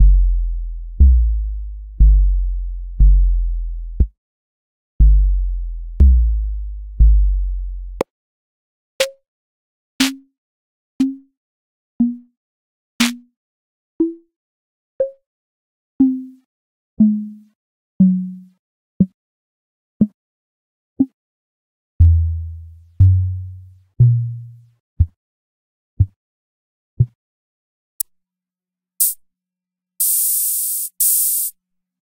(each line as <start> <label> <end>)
30.0 drum 31.5